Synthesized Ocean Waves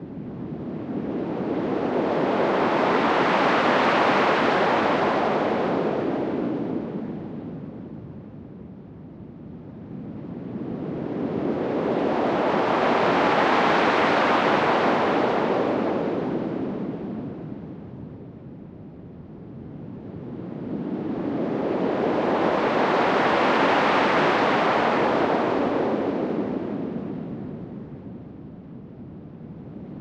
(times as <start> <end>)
11.2 17.0, 21.1 27.3